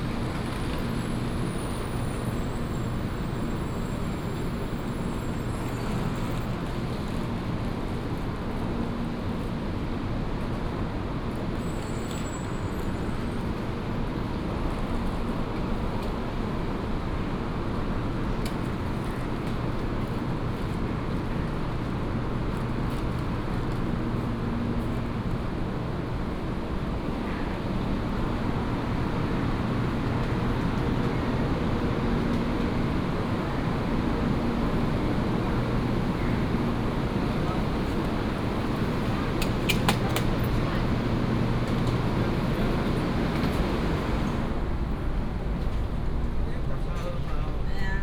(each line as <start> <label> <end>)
0.0 The train travels 48.0